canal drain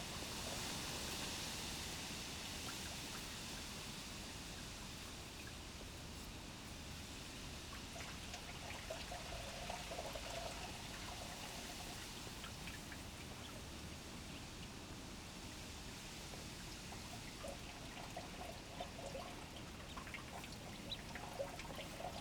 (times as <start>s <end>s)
7.9s 13.6s, 16.3s 22.2s